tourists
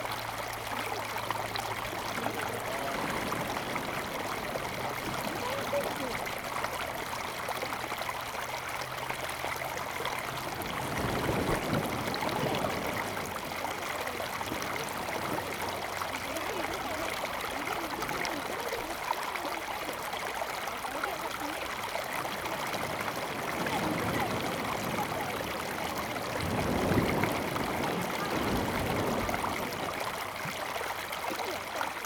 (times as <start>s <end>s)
0.8s 8.0s